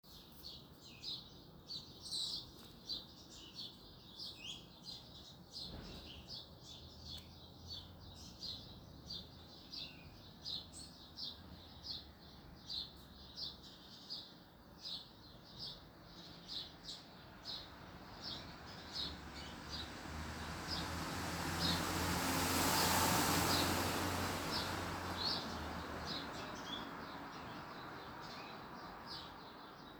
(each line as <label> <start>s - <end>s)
birdsong 0.1s - 22.2s
passing traffic 17.4s - 29.1s
birdsong 22.8s - 29.9s